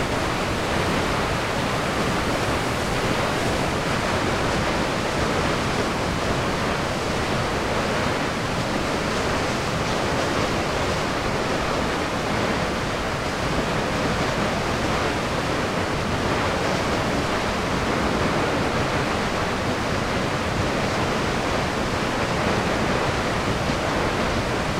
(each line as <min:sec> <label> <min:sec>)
0:00.0 water hitting the bottom of Latourelle Falls 0:24.7